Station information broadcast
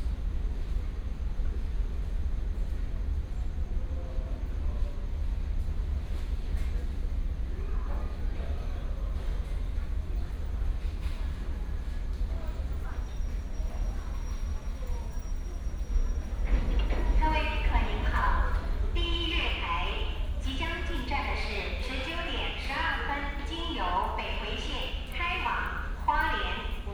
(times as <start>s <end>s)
16.5s 26.9s